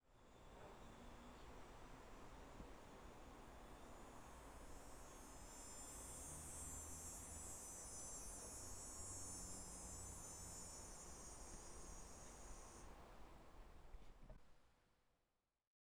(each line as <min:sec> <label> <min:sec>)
0:00.3 cicadas 0:13.2